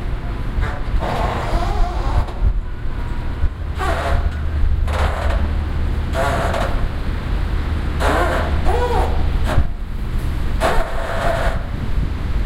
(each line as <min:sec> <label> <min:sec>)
0:00.0 squeezing bridge 0:11.9